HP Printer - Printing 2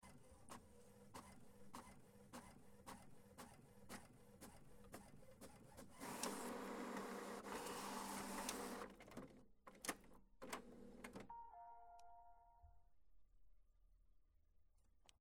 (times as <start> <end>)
0.0 11.3